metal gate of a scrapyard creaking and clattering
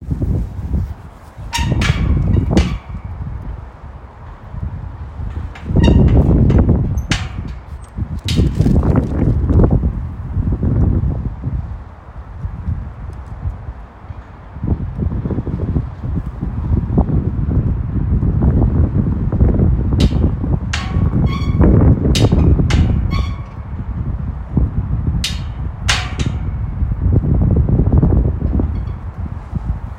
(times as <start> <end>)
1.4 3.4, 5.2 9.7, 19.9 24.1, 25.2 26.9, 28.4 29.3